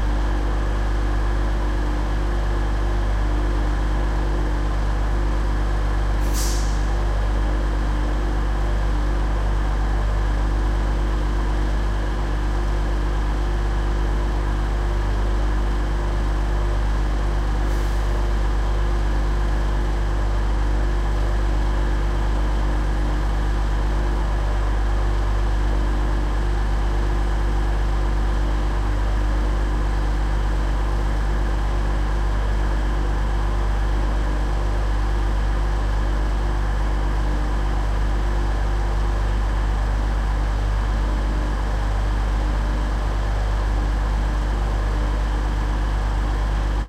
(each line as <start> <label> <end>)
6.3 Train Engine Starts 6.9